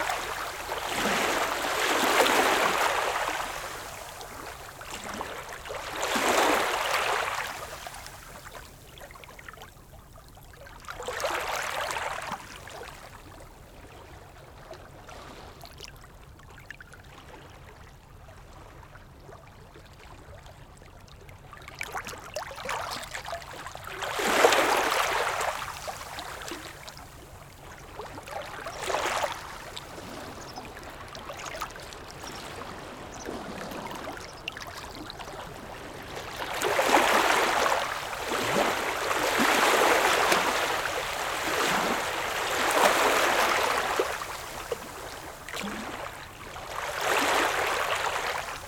Small waves stoney beach 0:00.0 - 0:09.4
Small waves stoney beach 0:10.8 - 0:13.1
Small waves stoney beach 0:22.0 - 0:48.6

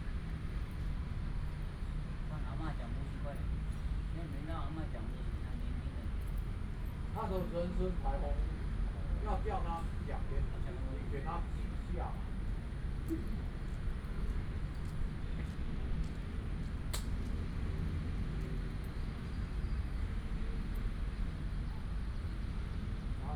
group of old people in the chat 0:02.3 - 0:13.5

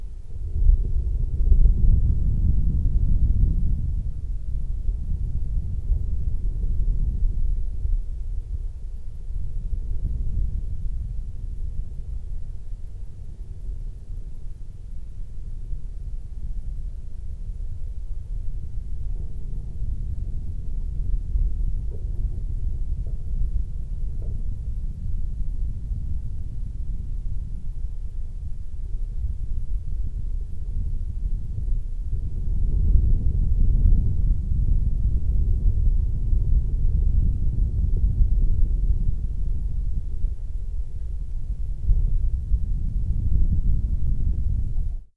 Wind howling in chimney flue 0:00.0 - 0:45.1

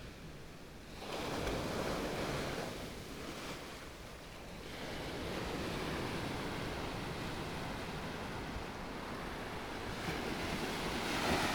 waves 0:05.1 - 0:11.5

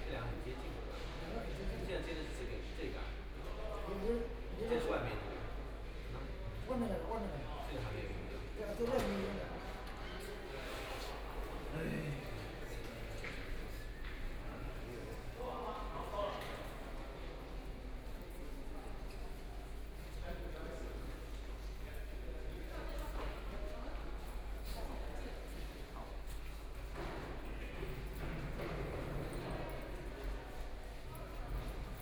Construction workers are arranged exhibition 0:00.0 - 0:32.0

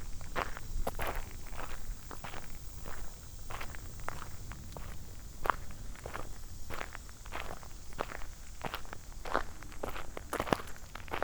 walking up the long driveway 0:00.0 - 0:11.2

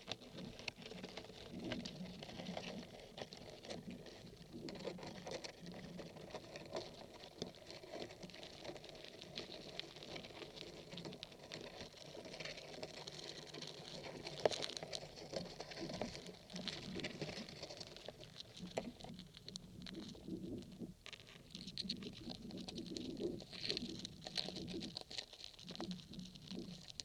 ants walking through on wood 0:00.0 - 0:27.0

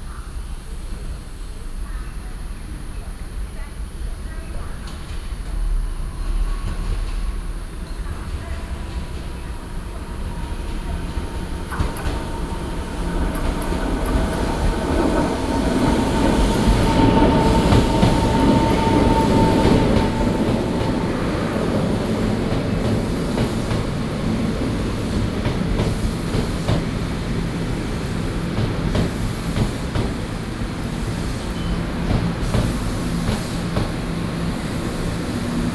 Traveling by train 0:00.0 - 0:35.7

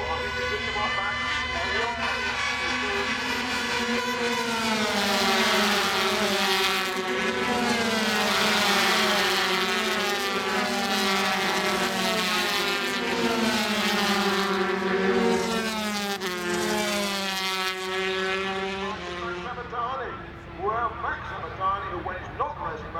125cc motorcycle race 0:00.0 - 0:22.9

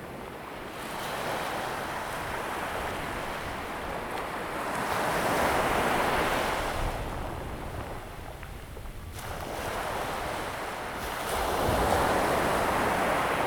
waves 0:00.0 - 0:13.4

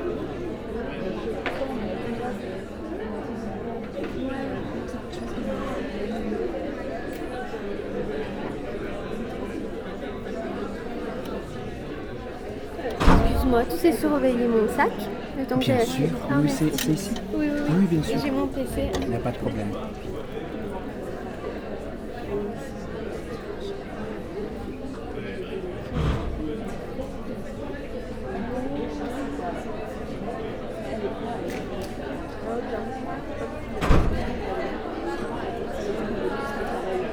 students are joking everywhere 0:13.0 - 0:20.3

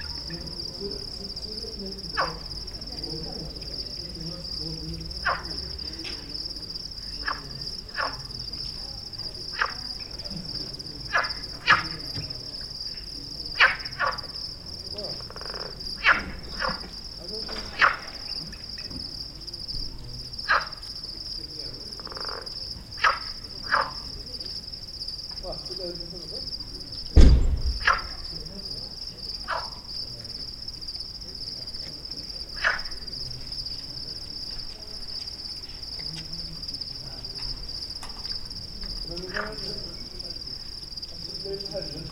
Frog 0:00.0 - 0:42.1
insects 0:00.0 - 0:42.1

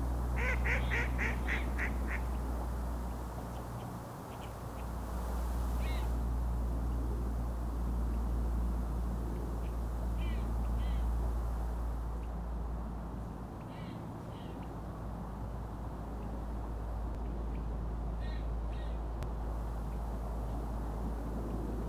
Colvert sur la rivière des Mille-îles 0:00.0 - 0:21.8

